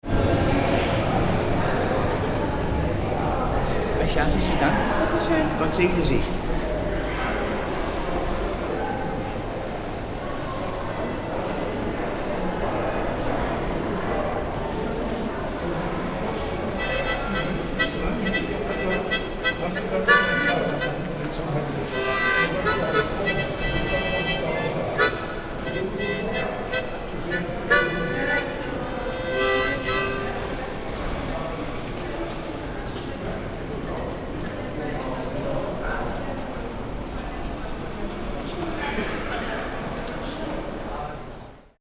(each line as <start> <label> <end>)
16.8 musician playing 30.8